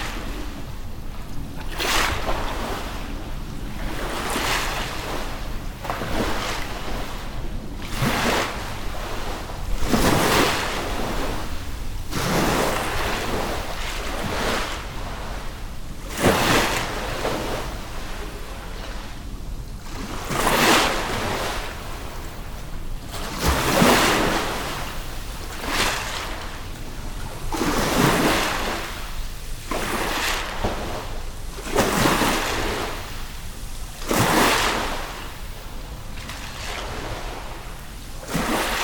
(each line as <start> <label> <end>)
0.0 Mild wind 38.8
0.0 Sea waves under a small passenger bridge 38.8